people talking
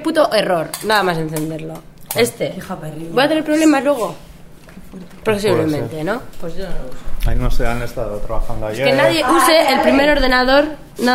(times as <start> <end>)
5.3 6.3, 7.3 11.1